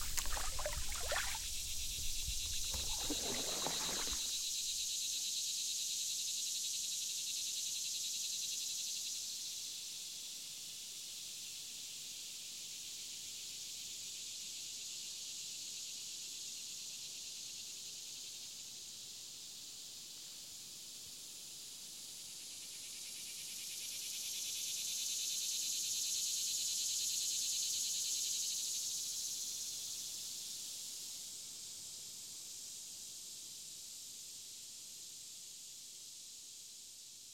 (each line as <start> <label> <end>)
0.0 waves 4.7
0.0 canoeist 4.8
0.0 insects 9.6
18.7 insects 37.3